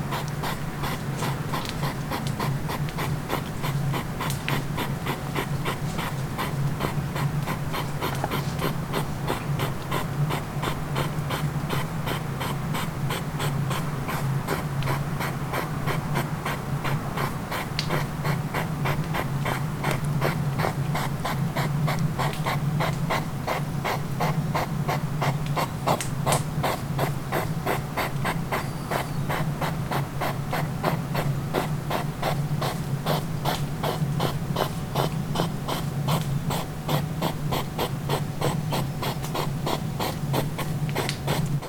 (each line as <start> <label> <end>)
0.1 Hedgehogs love 41.6